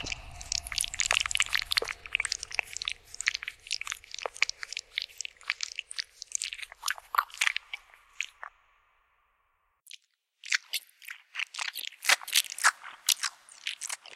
squished my face around 0:00.0 - 0:08.5

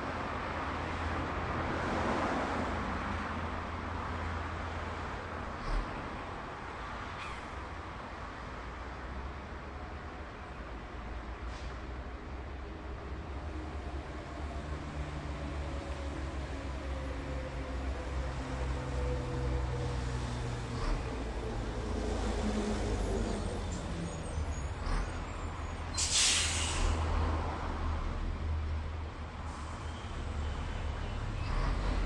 other traffic 0:00.0 - 0:32.0

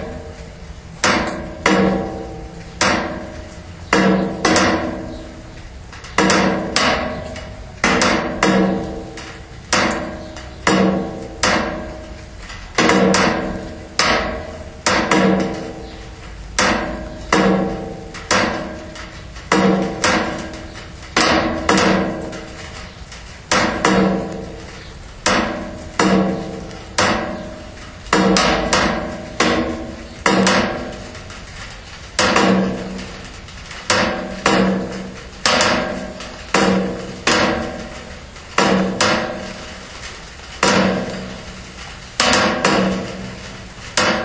rain drops 0:00.0 - 0:44.2

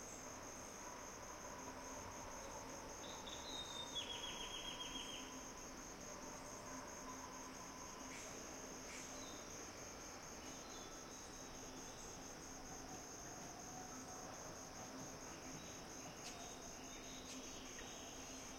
insects 0:00.0 - 0:18.5

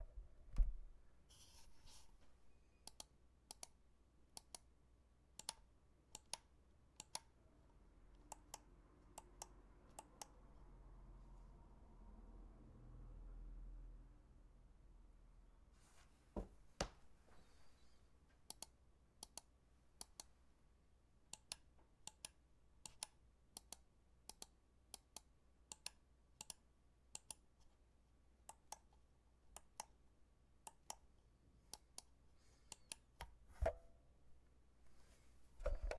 Mouse clicks 0:02.8 - 0:03.8
Mouse clicks 0:04.4 - 0:04.7
Mouse clicks 0:05.4 - 0:07.3
Mouse clicks 0:08.2 - 0:10.4
Mouse clicks 0:18.5 - 0:20.3
Mouse clicks 0:21.3 - 0:27.7
Mouse clicks 0:32.7 - 0:33.8

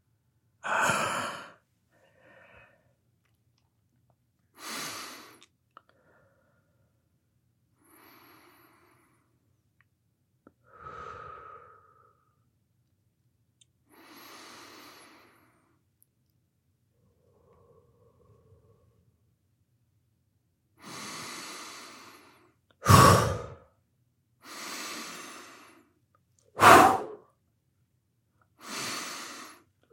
male breathing, in/out 0:00.6 - 0:03.0
male breathing, in/out 0:10.6 - 0:12.4
male breathing, in/out 0:13.9 - 0:15.8
male breathing, in/out 0:20.8 - 0:23.6
male breathing, in/out 0:24.4 - 0:26.0
male breathing, in/out 0:28.6 - 0:29.8

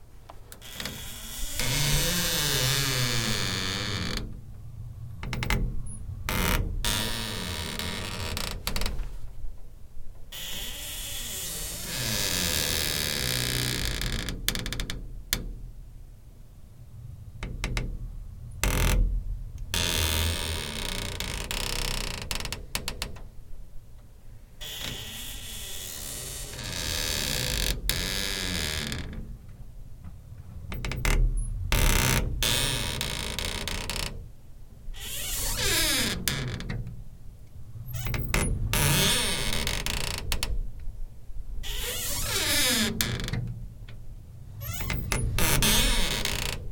squeaky glass door 0:00.6 - 0:04.2
squeaky glass door 0:05.3 - 0:09.0
squeaky glass door 0:10.3 - 0:15.0
squeaky glass door 0:19.8 - 0:23.1
squeaky glass door 0:24.6 - 0:29.2
squeaky glass door 0:30.7 - 0:34.2
squeaky glass door 0:35.0 - 0:36.9
squeaky glass door 0:37.9 - 0:40.6
squeaky glass door 0:41.6 - 0:43.5
squeaky glass door 0:44.6 - 0:46.7

